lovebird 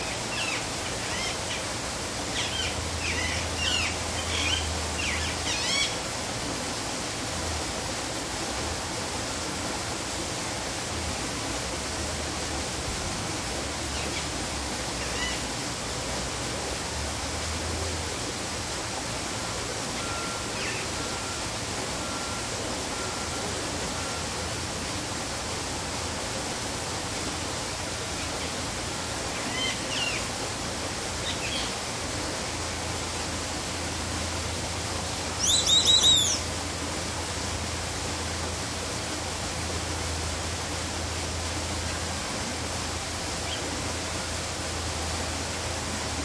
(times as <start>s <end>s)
0.0s 1.7s, 2.3s 6.0s, 15.0s 15.5s, 19.9s 21.4s, 29.3s 30.3s, 31.2s 31.8s, 35.3s 36.5s, 43.4s 43.8s